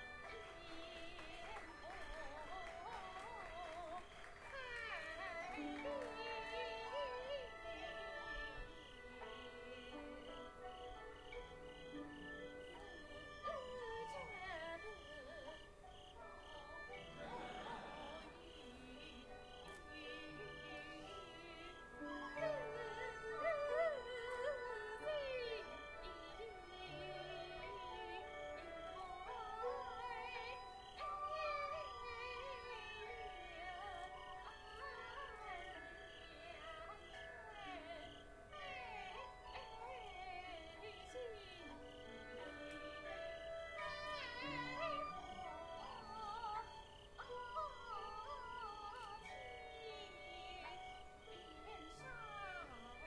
singing 0:00.0 - 0:53.0

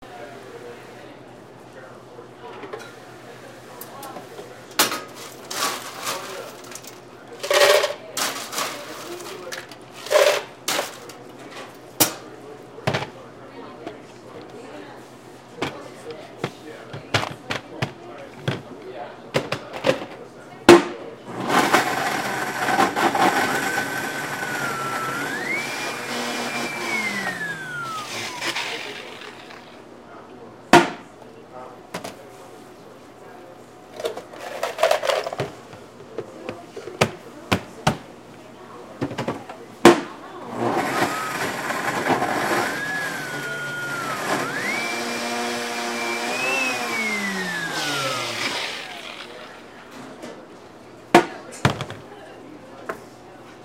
runs the blender 0:21.3 - 0:29.8
ice scoop 0:21.4 - 0:29.7
runs the blender 0:40.4 - 0:49.7
ice scoop 0:40.6 - 0:49.6

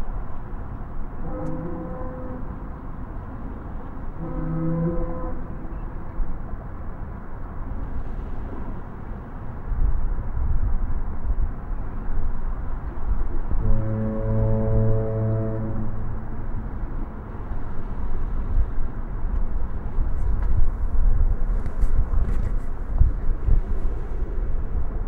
fog horn sounds 0:01.0 - 0:06.6
fog horn sounds 0:13.5 - 0:18.3

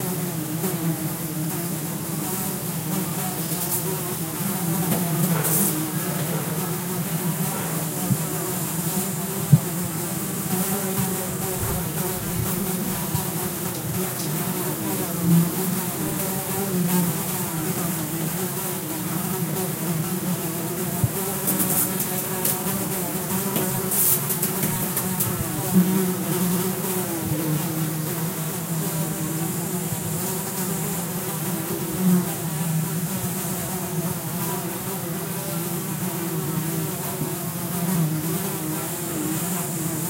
bees 0:00.0 - 0:40.0
Flies around cow/horse shit 0:03.4 - 0:16.6

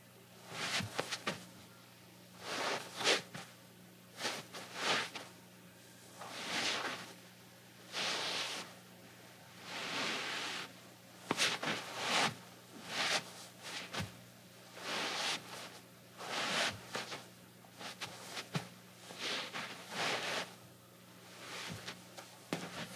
Slippers on rug, scuffs 0:00.5 - 0:01.5
Slippers on rug, scuffs 0:02.4 - 0:03.5
Slippers on rug, scuffs 0:04.2 - 0:05.3
Slippers on rug, scuffs 0:06.2 - 0:07.2
Slippers on rug, scuffs 0:07.9 - 0:08.7
Slippers on rug, scuffs 0:09.6 - 0:10.7
Slippers on rug, scuffs 0:11.3 - 0:14.2
Slippers on rug, scuffs 0:14.8 - 0:17.2
Slippers on rug, scuffs 0:17.8 - 0:20.6
Slippers on rug, scuffs 0:21.3 - 0:22.9

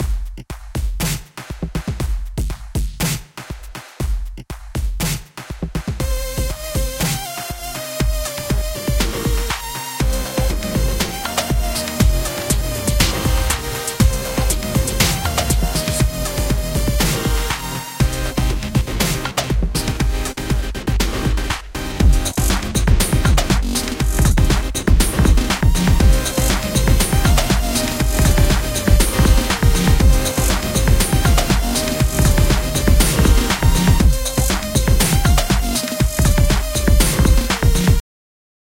drum 0:00.0 - 0:38.0
bass 0:05.8 - 0:38.0
synth 0:06.0 - 0:38.0

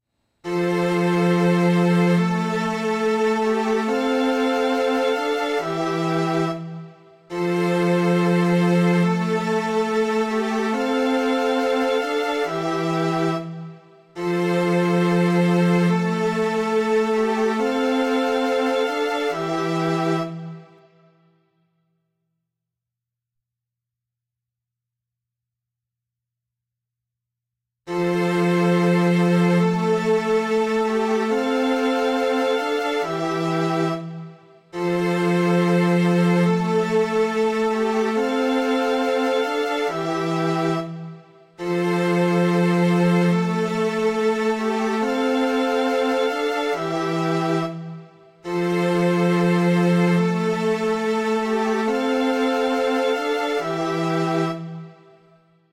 Viola 0:00.4 - 0:20.9
String Pad 0:00.4 - 0:21.0
Violin 0:00.4 - 0:21.0
Cello 0:00.4 - 0:21.1
Viola 0:27.9 - 0:55.2
Violin 0:27.9 - 0:55.4
Cello 0:27.9 - 0:55.4
String Pad 0:27.9 - 0:55.3

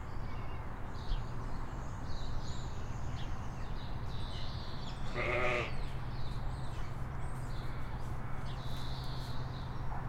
Adult sheep, one baa 0:05.1 - 0:05.8

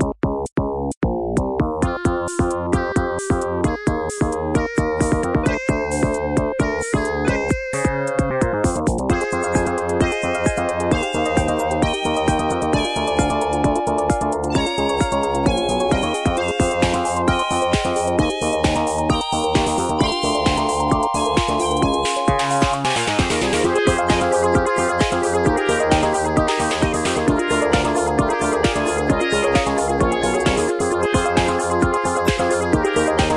Spacey VG Music Loop 0:00.0 - 0:33.3

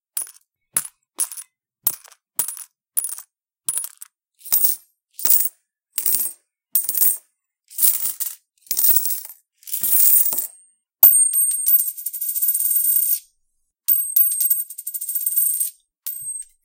light, hollow coin dropped into a small bag of coins 0:00.1 - 0:13.2
coin tosses on floor, bouncing back 0:00.2 - 0:13.2
heavier coin dropped into a small bag of coins 0:00.2 - 0:13.2
coin tosses on floor, bouncing back 0:13.9 - 0:16.6
light, hollow coin dropped into a small bag of coins 0:13.9 - 0:16.6

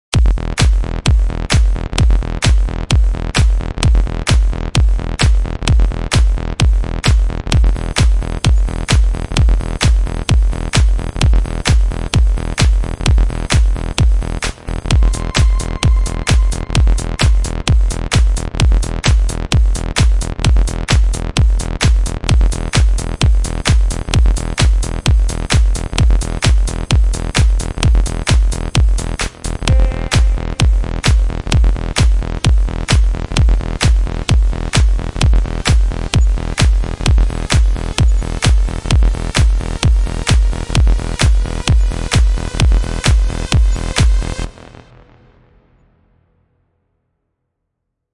Bass 0:00.0 - 0:46.2
Kick 0:00.1 - 0:44.7
Clap 0:00.2 - 0:00.9
Clap 0:02.4 - 0:02.7
Clap 0:06.2 - 0:06.4
Clap 0:10.7 - 0:11.0
Clap 0:11.6 - 0:11.9
Uplifter 0:14.6 - 0:19.3
Synth 0:14.6 - 0:18.9
Sweep 0:14.7 - 0:18.6
Melody 0:14.8 - 0:18.3
Clap 0:23.6 - 0:23.9
Synth 0:29.7 - 0:31.7
Clap 0:34.7 - 0:35.0
Clap 0:35.6 - 0:35.9

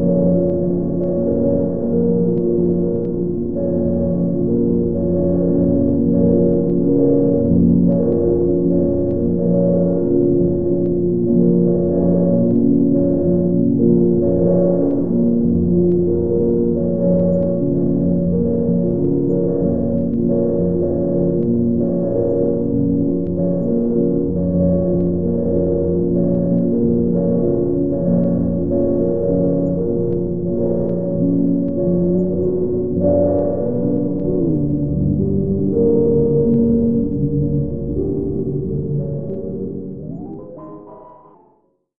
drone 0:00.0 - 0:41.7

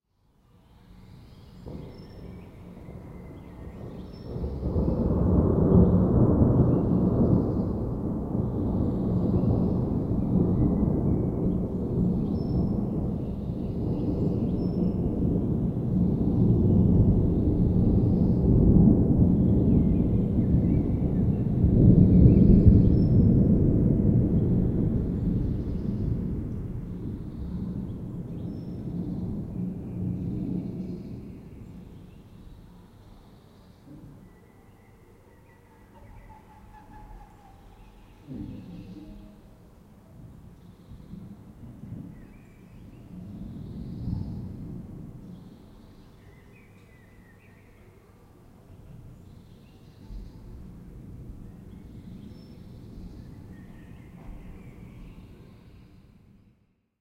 wind 0:00.0 - 0:57.0
Rain 0:01.6 - 0:34.5
birds 0:27.0 - 0:44.6
Rain 0:37.6 - 0:55.6
birds 0:51.4 - 0:56.3

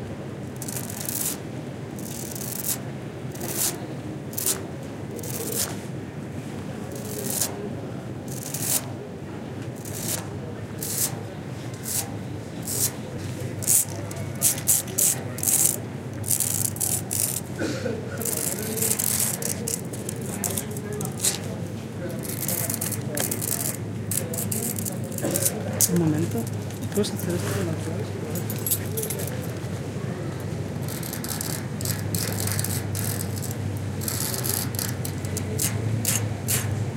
soft scratching (finger nails and keys) on a big metal sculpture 0:00.6 - 0:01.4
soft scratching (finger nails and keys) on a big metal sculpture 0:02.0 - 0:05.9
soft scratching (finger nails and keys) on a big metal sculpture 0:06.9 - 0:07.6
soft scratching (finger nails and keys) on a big metal sculpture 0:08.2 - 0:09.0
soft scratching (finger nails and keys) on a big metal sculpture 0:09.8 - 0:17.6
soft scratching (finger nails and keys) on a big metal sculpture 0:18.2 - 0:29.8
soft scratching (finger nails and keys) on a big metal sculpture 0:30.4 - 0:36.9

